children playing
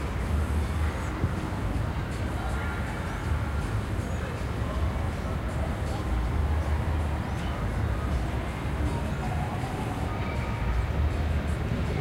0:09.0 0:12.0

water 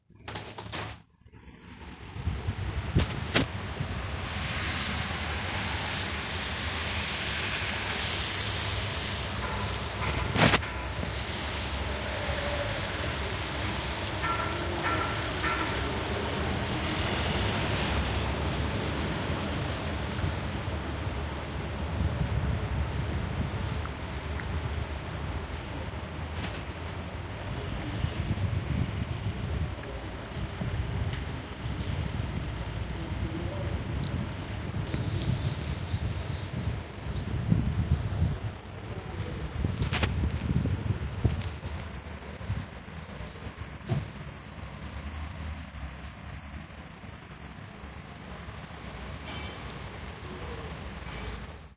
0:03.5 0:21.9

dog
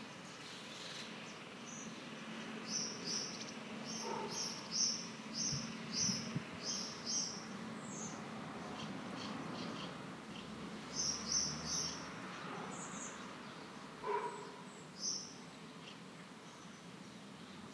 0:04.0 0:04.4, 0:14.0 0:14.6

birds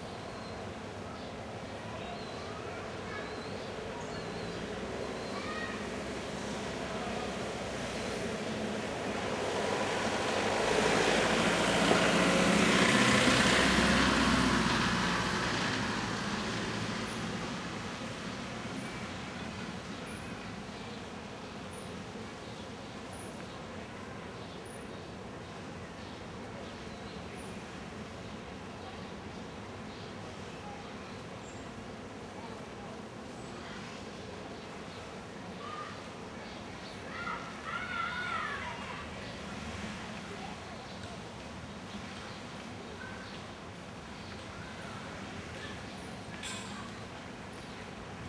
0:00.0 0:06.0, 0:16.3 0:48.2

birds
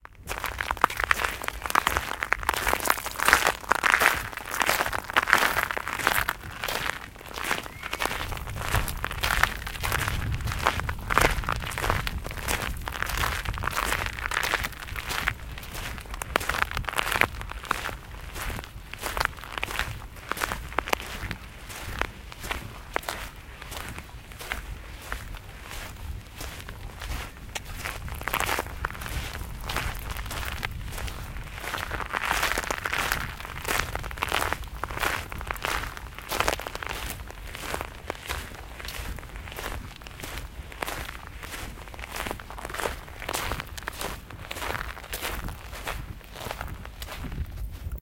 0:07.6 0:08.0

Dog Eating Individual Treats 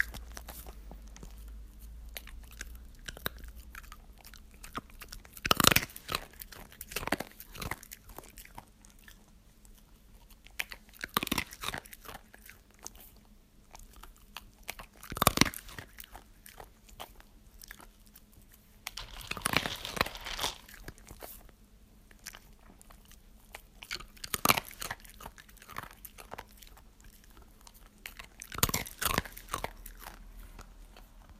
0:18.9 0:21.4

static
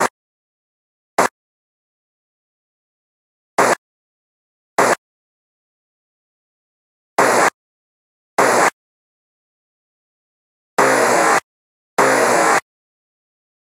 0:03.6 0:03.8, 0:04.8 0:05.0, 0:07.2 0:07.6, 0:08.4 0:08.8, 0:10.8 0:12.7

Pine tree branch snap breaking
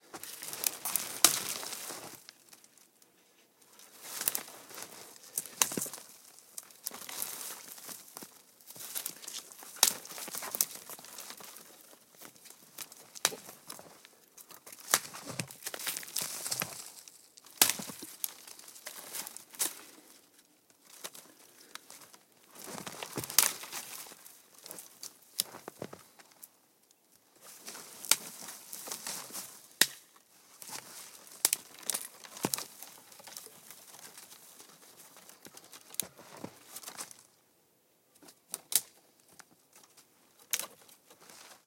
0:00.4 0:01.8, 0:14.7 0:19.8, 0:29.8 0:30.1, 0:31.4 0:33.4

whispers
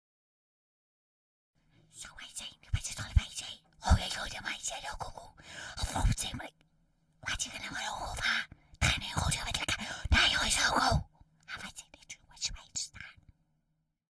0:01.9 0:06.6, 0:07.2 0:13.3

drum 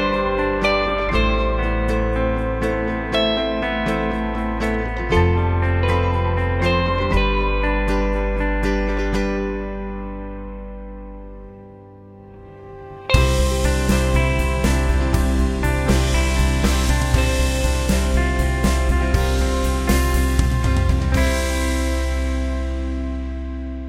0:13.2 0:23.0

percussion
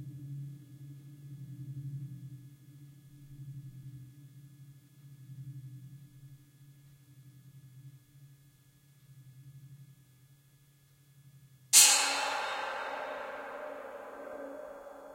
0:11.8 0:15.1

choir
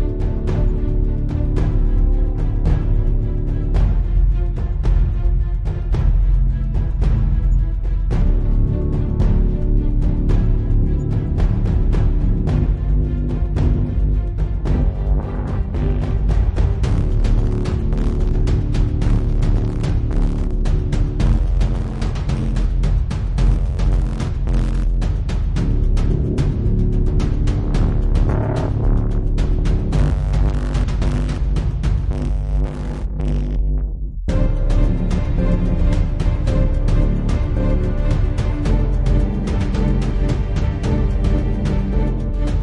0:34.3 0:42.6

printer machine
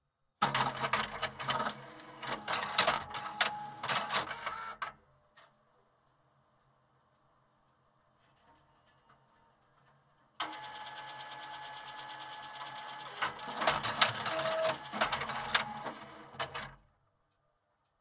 0:00.4 0:04.9, 0:10.4 0:16.8

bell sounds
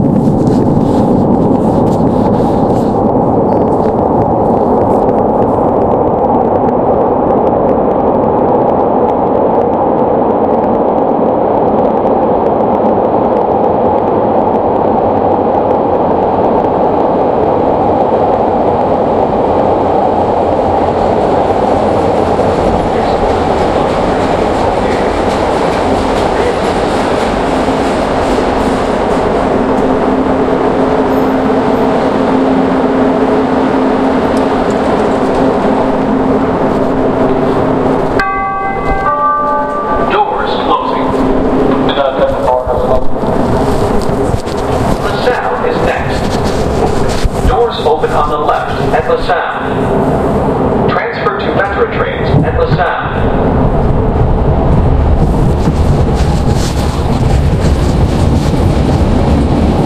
0:38.2 0:41.2

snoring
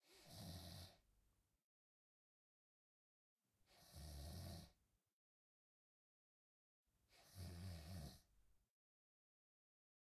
0:00.0 0:01.1, 0:03.7 0:04.8, 0:07.1 0:08.4

